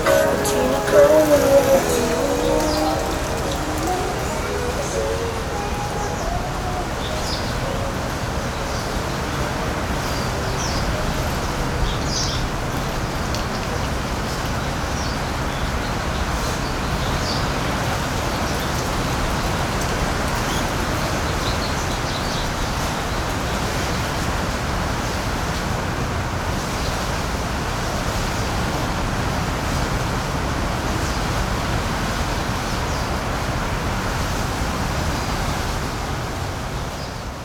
0.0s Birds singing 9.2s
0.0s Windy 10.4s
0.0s Traffic Sound 13.0s

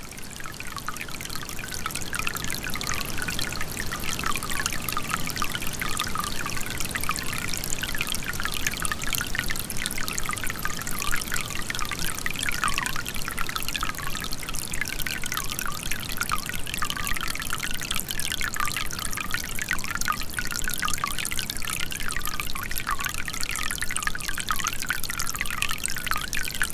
0.0s wind 26.7s

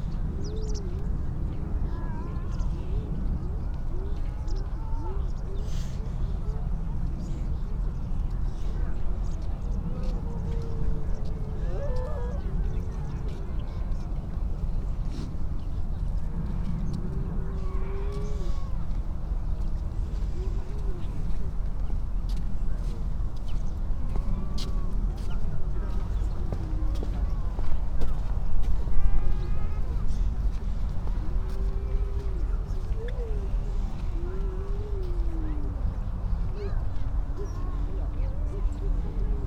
17.1s grey seals 18.9s

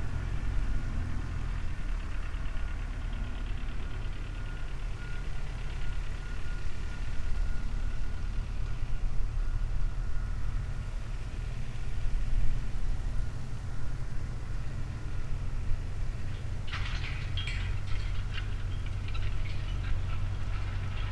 0.0s tractor doing its thing on the field in the distance 21.1s

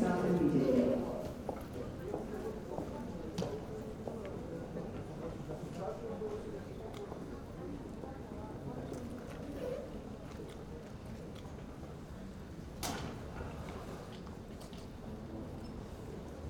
0.0s security announcement 1.2s
0.0s murmur of voices 12.4s

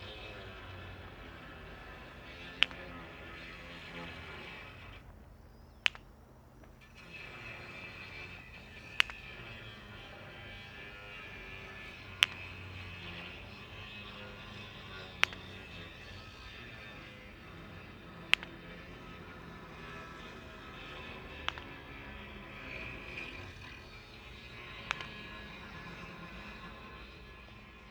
0.0s Clicking stones in front of the 60m concrete sound mirror 27.9s
0.0s Propeller planes 27.9s
0.0s building work 27.9s

